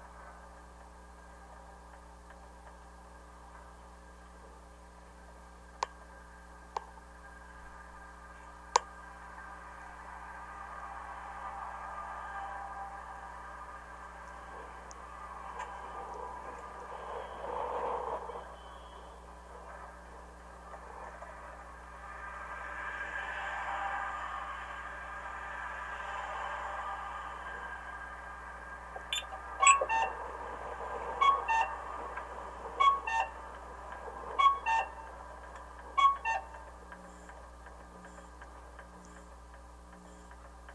0.0s Traffic noise 40.7s
7.2s crossing-signal klaxon 39.3s
29.1s traffic signal post 30.2s
32.8s traffic signal post 33.6s
34.4s traffic signal post 37.4s

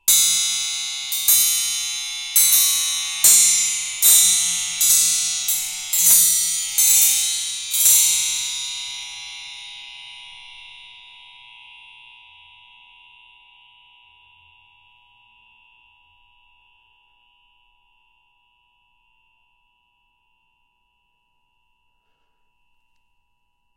0.1s metal spring hit with a metal rod 10.1s

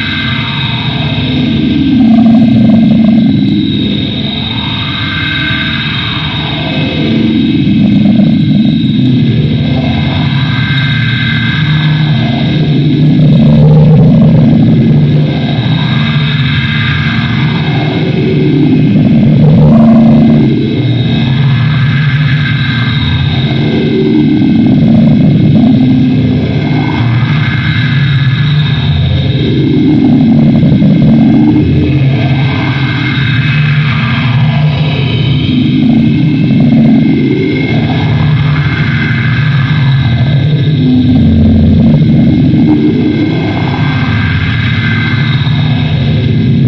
0.0s distorted noise 46.6s

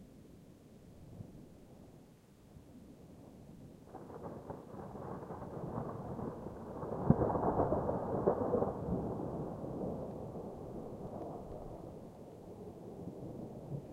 3.8s thunder 13.9s

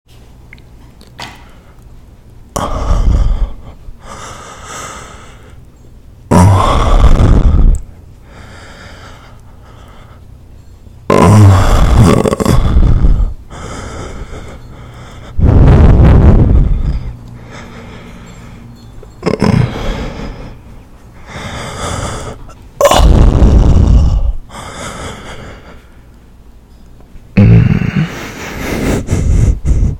6.2s Close Up Moaning 10.2s
11.0s Close Up Moaning 26.0s

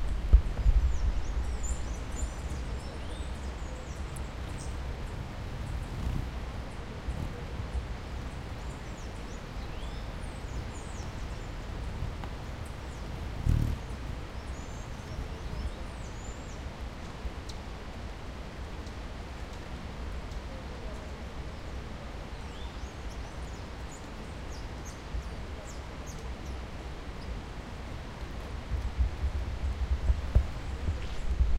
0.0s rain 31.5s
0.0s strong river is running in the background 31.5s
0.0s hummingbirds feeding and fighting 31.5s

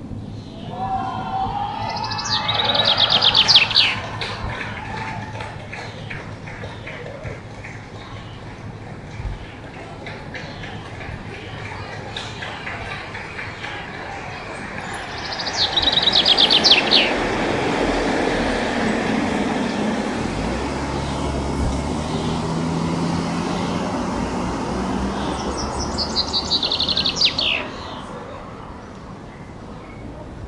1.7s Chaffinch Male Bird Song 30.2s

